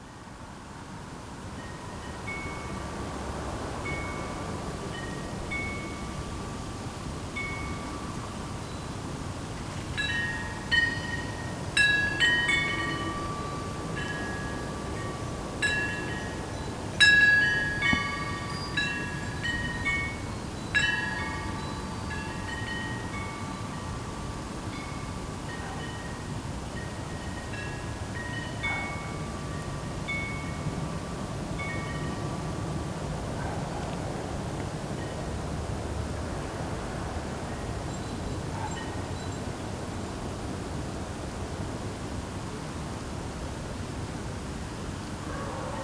Wind chimes 1.4 - 33.0
Wind chimes 34.9 - 36.1
Wind chimes 37.4 - 40.2

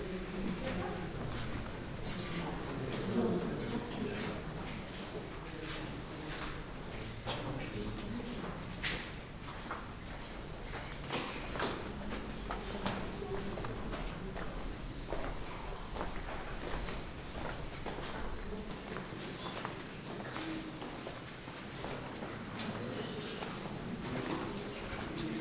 visitors talking 0.0 - 21.0
footsteps 0.0 - 25.2

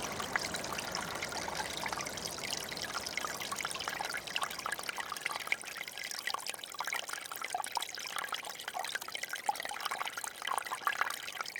tiny ice of river 0.0 - 7.6
small river 0.0 - 11.5

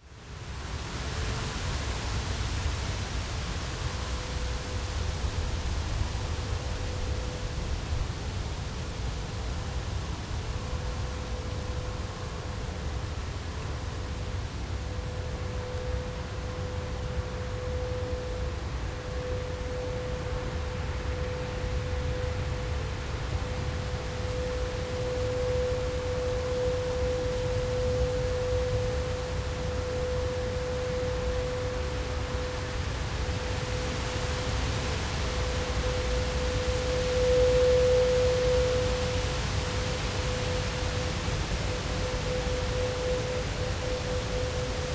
wind 0.0 - 44.9

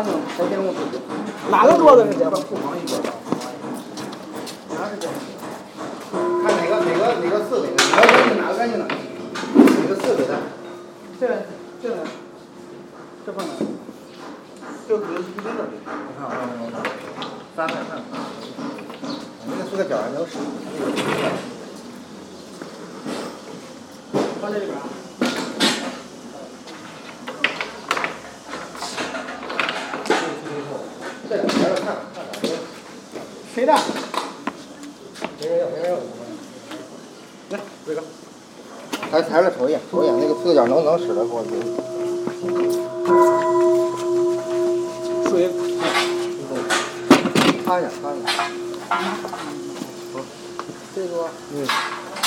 Tibetan bowl 6.1 - 13.0
Tibetan bowl 39.4 - 52.2
Work in Progress sounds 39.9 - 52.2

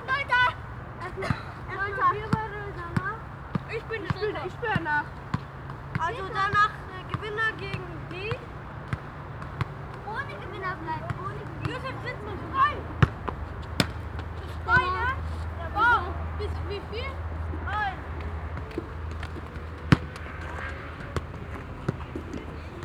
children playing soccer 0.0 - 22.8
motor traffic 0.0 - 22.8

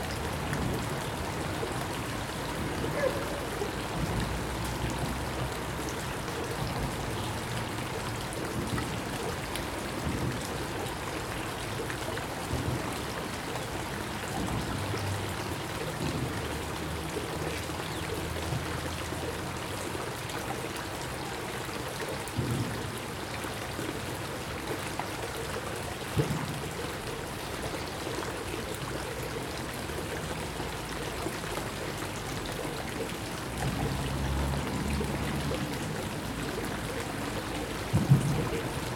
water 0.0 - 38.9
dog barking 2.9 - 3.7

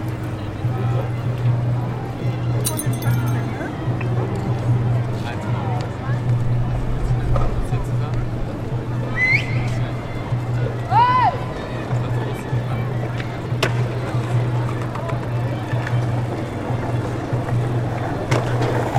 street music 0.0 - 6.9
crowd 0.0 - 18.9
street music 8.2 - 18.9
skateboarding 13.0 - 18.9

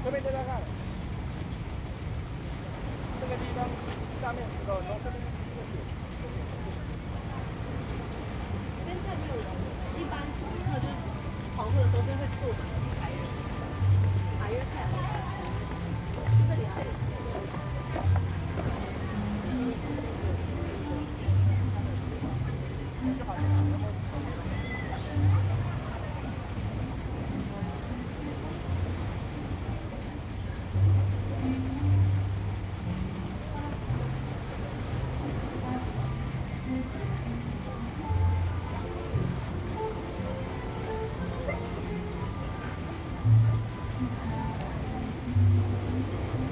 river 0.0 - 46.5
Footsteps 14.0 - 18.8

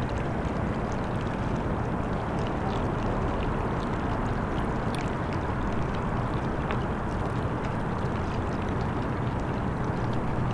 river 0.0 - 10.5

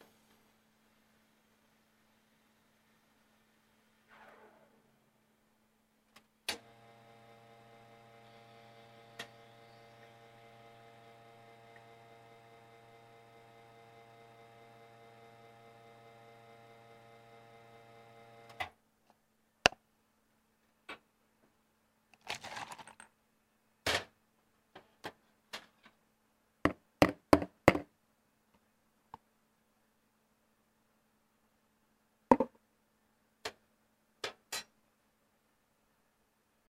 pouring them into a cup 22.2 - 23.1

